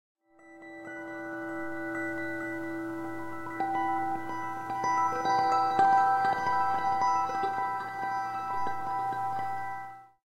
guitar 0.4 - 10.2

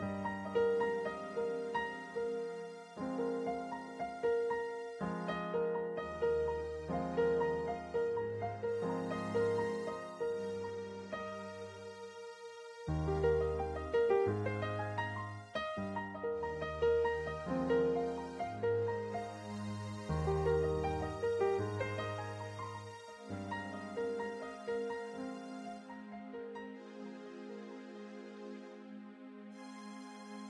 repeating piano motif 0.0 - 30.4

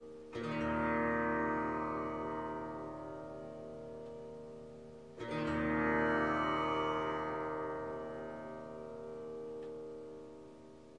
Tanpura Mournful Strumming 0.0 - 10.9

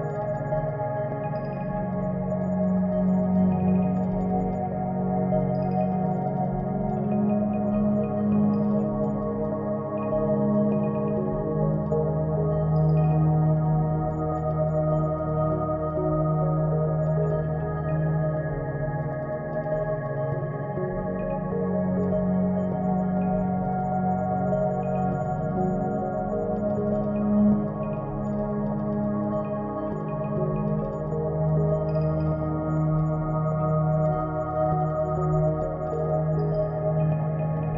Light and beautiful pad 0.0 - 37.7

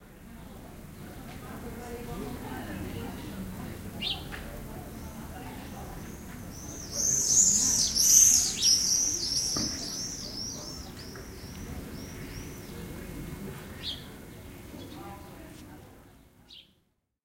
quiet voices 0.1 - 16.6
Swifts fly down the narrow streets 0.1 - 16.8
sparrow 4.0 - 13.0
sparrow 13.7 - 15.4

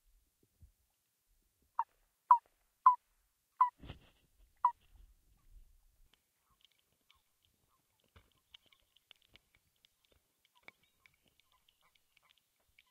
birds in the background 6.3 - 12.9

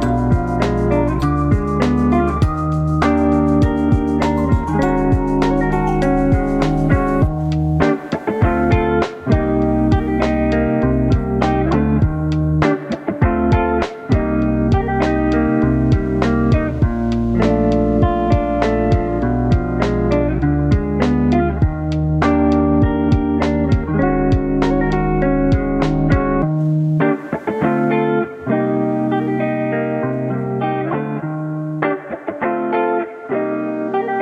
glockenspiel 0.0 - 7.4
bass 0.0 - 7.8
synth 0.0 - 11.8
beat 0.0 - 27.6
guitar 0.0 - 34.2
bass 8.6 - 12.6
bass 14.2 - 26.6

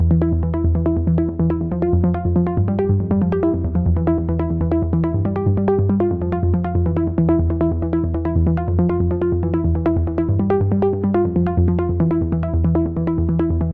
Rising and falling arpeggiated synth 0.0 - 13.7

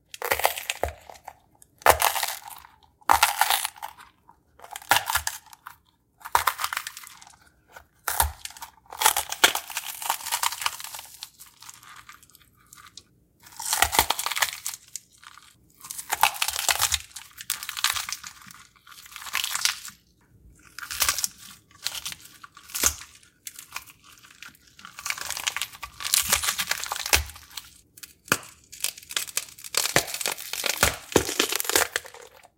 Wet crunching sounds of a bell pepper 0.0 - 32.5

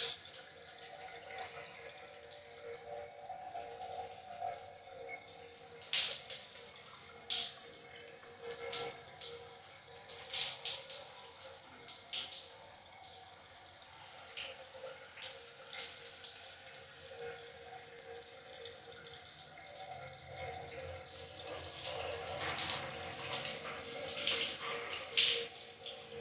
Shower inside 0.0 - 26.2

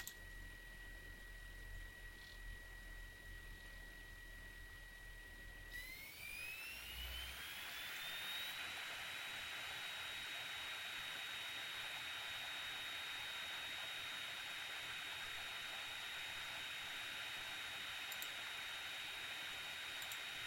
mouse clicks 0.0 - 0.2
drive whine 0.0 - 20.4
mouse clicks 18.1 - 18.4

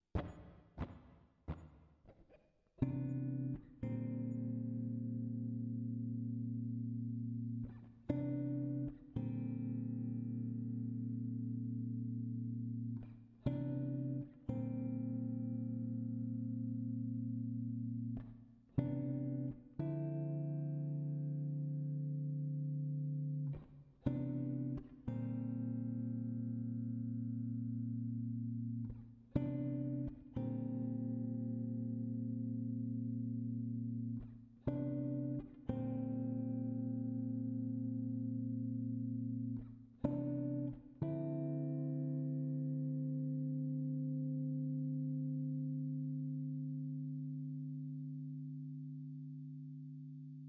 Guitar Chord Progression 2.8 - 50.4

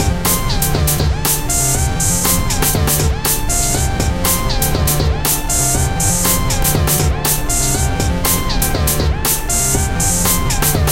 analog synths 0.0 - 10.9
drums 0.0 - 10.9

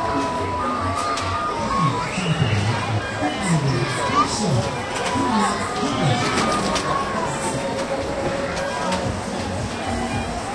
people screaming in the background 0.0 - 7.6

